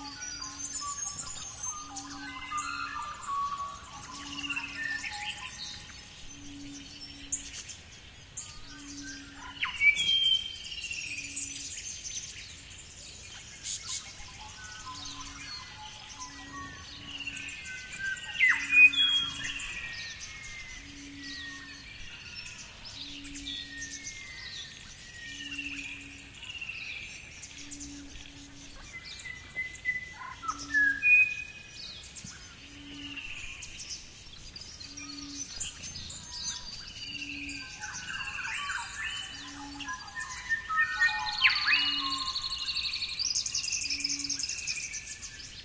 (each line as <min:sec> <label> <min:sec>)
0:00.0 frogs 0:45.6
0:00.0 insects 0:45.6